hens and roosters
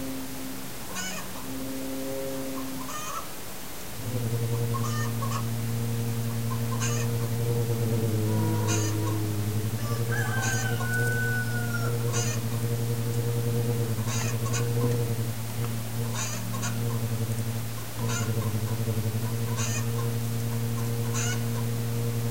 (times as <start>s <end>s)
0.9s 1.4s, 2.8s 3.4s, 4.7s 5.5s, 8.4s 17.2s, 18.0s 21.6s